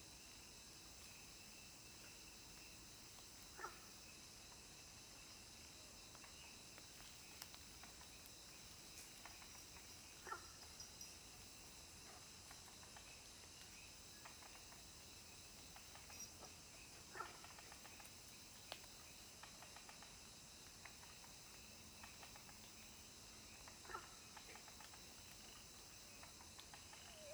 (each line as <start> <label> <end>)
0.0 bamboo forest 27.3
0.0 insects 27.3
3.4 Frogs chirping 4.0
6.3 Frogs chirping 11.2
12.7 Frogs chirping 27.3